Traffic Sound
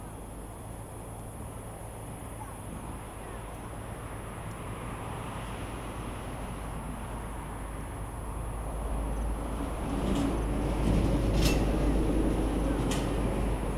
3.2 13.7

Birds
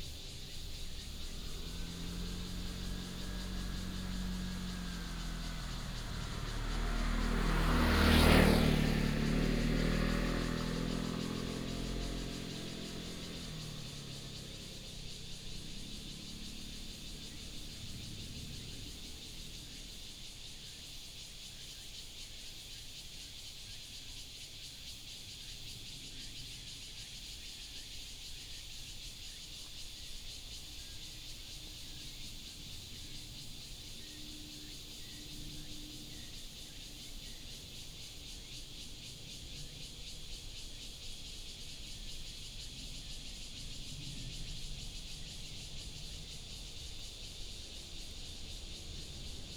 0.0 23.0

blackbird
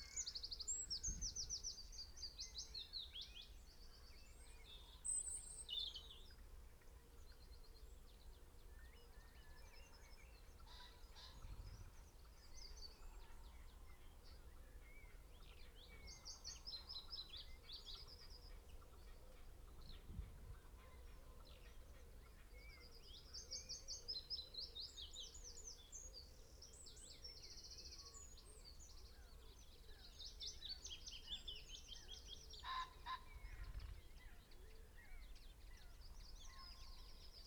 15.0 37.4

